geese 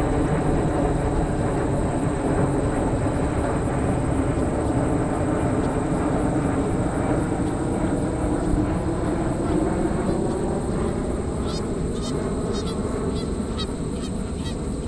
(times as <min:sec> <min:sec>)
0:09.4 0:14.8